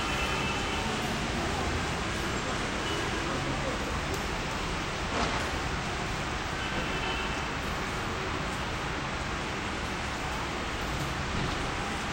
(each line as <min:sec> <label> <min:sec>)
0:00.0 Street horns 0:01.4
0:00.0 traffic 0:12.1
0:02.6 Street horns 0:03.6
0:06.5 Street horns 0:07.7